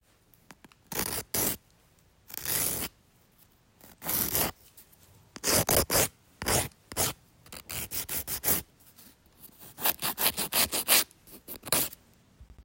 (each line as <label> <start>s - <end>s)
nail file 0.5s - 1.7s
nail file 2.3s - 2.9s
nail file 3.8s - 4.6s
nail file 5.4s - 8.7s
nail file 9.4s - 12.0s